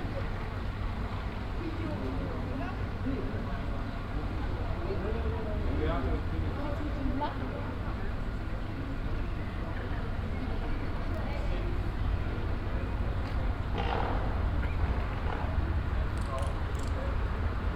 0.0s pedestrians 17.7s
0.0s traffic 17.7s

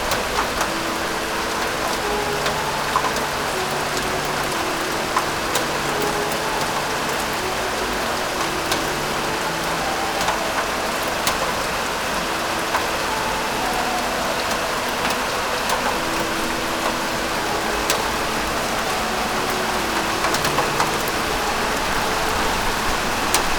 0.0s rain 23.5s

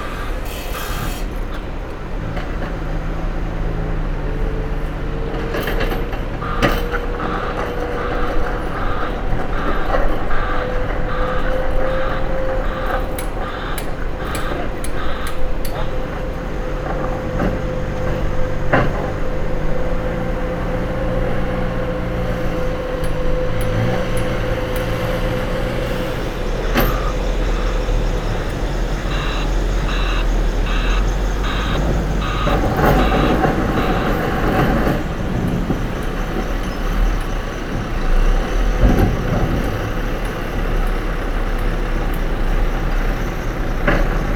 0.0s Men and machines resurfacing the road 44.3s

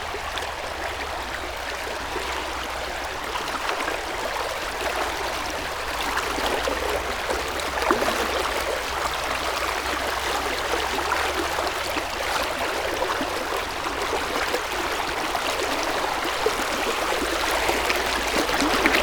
0.0s river flow 19.0s

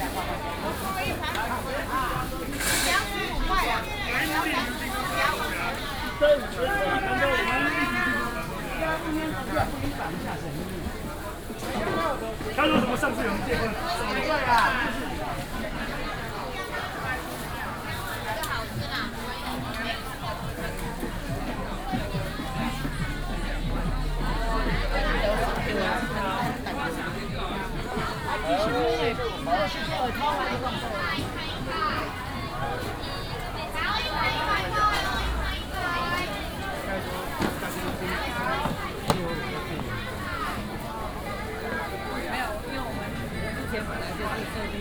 0.0s walking In the Market 44.8s
0.0s vendors selling voice 44.8s

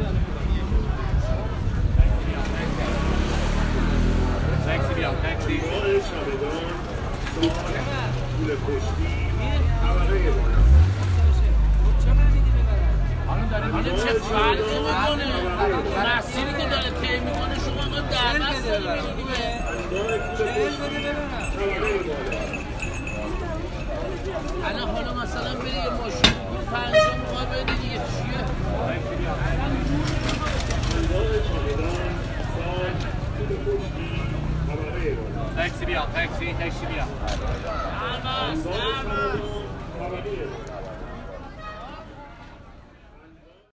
0.0s busy street 43.7s

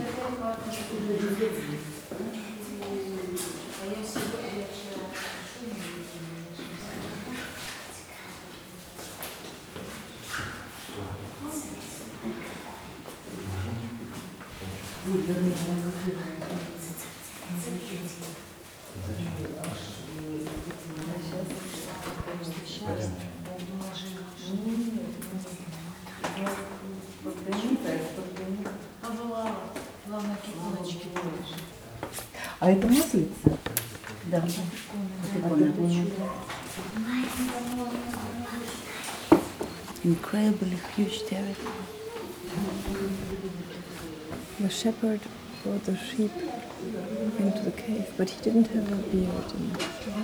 26.8s tourists and helpers of the monastry pass 50.2s

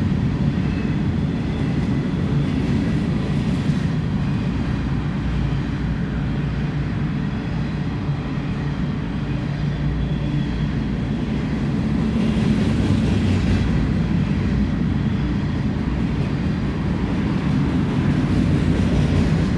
0.0s Freight Train in a Blizzard 19.5s

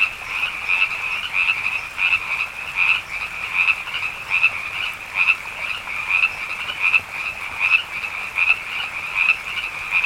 0.0s Frogs 10.0s

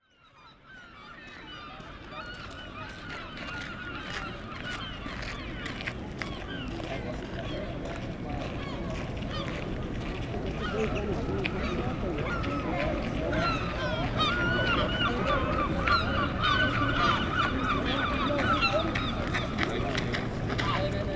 0.1s European Herring Gull 9.7s
1.3s people walking 21.1s
10.4s European Herring Gull 21.1s
10.5s Common Moorhen 20.0s
10.6s Black-headed Gull 19.8s

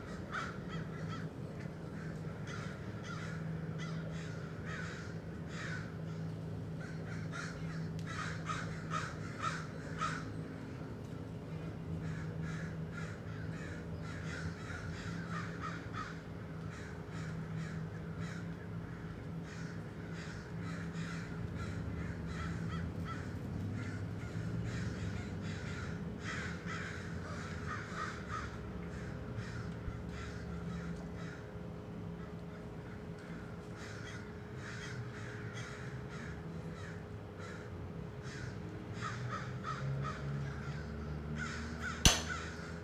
0.0s every single crow from hood did gather on walnut tree 42.8s

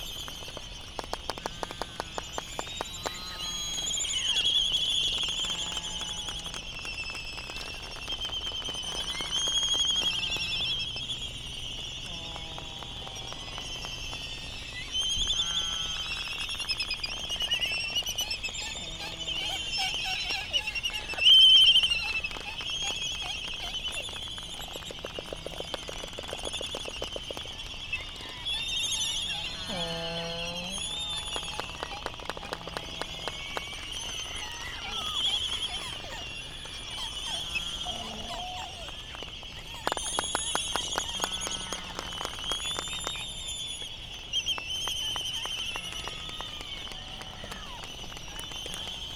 0.0s laysan calls 49.1s
0.0s noise from buggies 49.1s

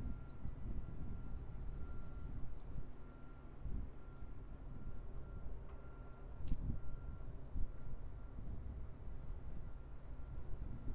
0.0s Wind whipping past the microphone 3.0s
0.0s beep of a car backing up 8.8s
6.4s Wind whipping past the microphone 10.9s

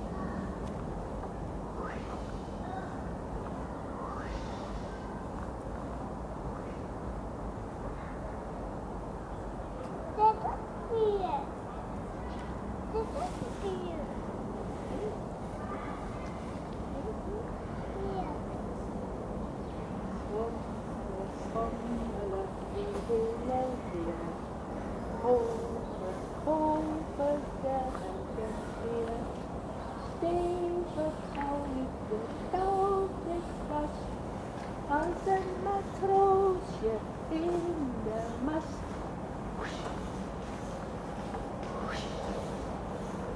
19.9s woman sings to a young child 39.0s

